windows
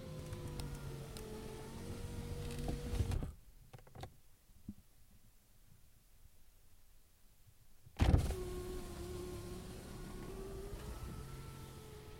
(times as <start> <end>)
0.0 4.2, 8.0 12.1